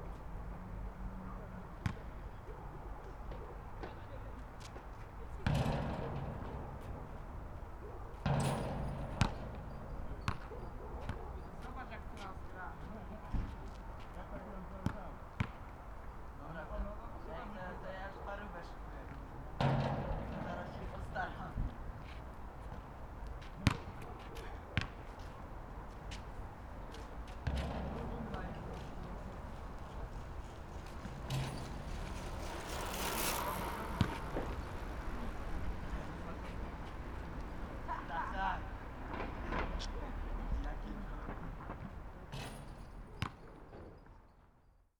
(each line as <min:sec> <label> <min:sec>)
0:00.0 teenagers playing horse at the nearby basketball court 0:44.9
0:01.8 basketball bouncing off the tarmac 0:15.8
0:19.1 basketball bouncing off the tarmac 0:37.6
0:41.2 basketball bouncing off the tarmac 0:44.0